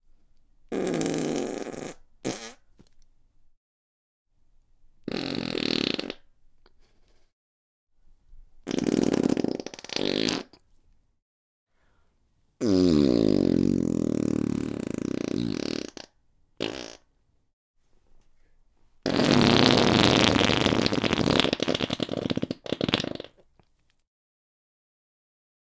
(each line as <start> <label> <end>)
0.7 Farts, loud and obnoxious 2.7
5.1 Farts, loud and obnoxious 6.3
8.6 Farts, loud and obnoxious 10.6
12.6 Farts, loud and obnoxious 17.1
19.0 Farts, loud and obnoxious 23.5